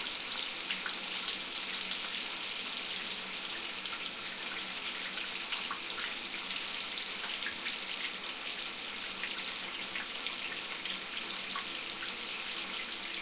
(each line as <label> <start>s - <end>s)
Shower 0.0s - 13.2s
bath 0.0s - 13.2s
sink 0.0s - 13.2s